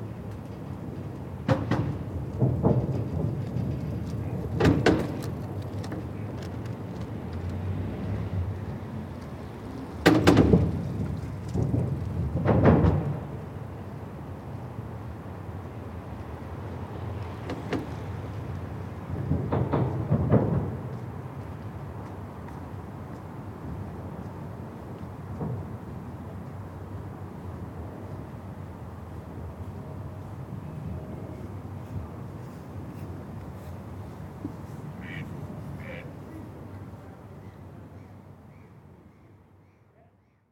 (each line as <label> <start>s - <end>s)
walkers 2.2s - 10.0s
bikes 2.4s - 12.9s
walkers 20.9s - 26.7s